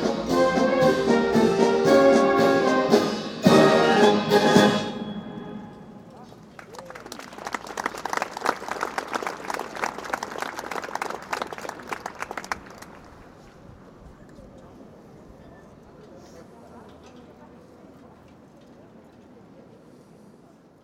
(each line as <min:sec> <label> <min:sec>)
0:00.0 marching band 0:06.2